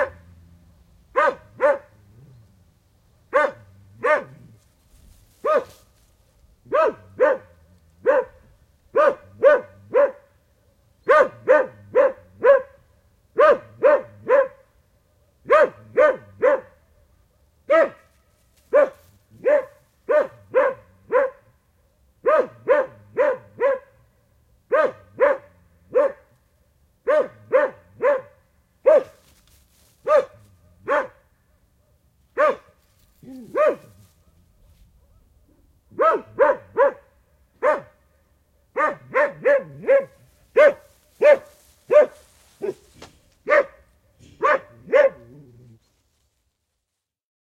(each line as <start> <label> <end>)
0.0 Dog barking, a medium-size dog 0.4
1.1 Dog barking, a medium-size dog 2.3
3.2 Dog barking, a medium-size dog 4.6
5.4 Dog barking, a medium-size dog 5.9
6.6 Dog barking, a medium-size dog 26.4
27.0 Dog barking, a medium-size dog 29.4
30.0 Dog barking, a medium-size dog 45.8